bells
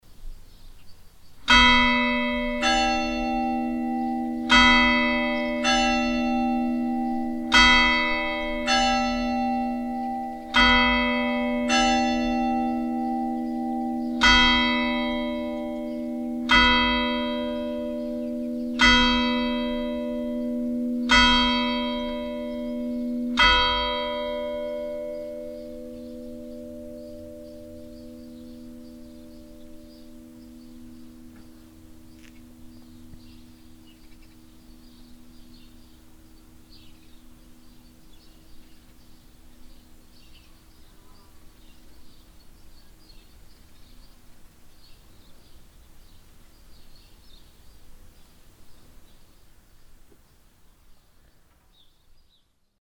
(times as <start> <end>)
1.5 39.7